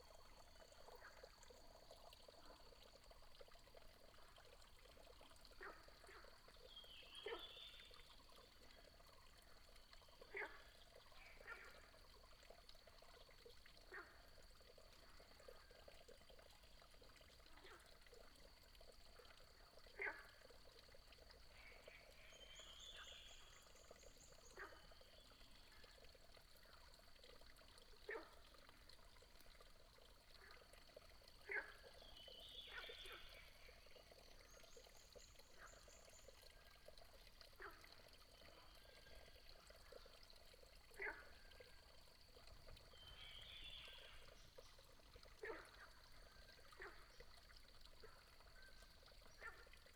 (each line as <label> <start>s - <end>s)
Small water 0.0s - 49.9s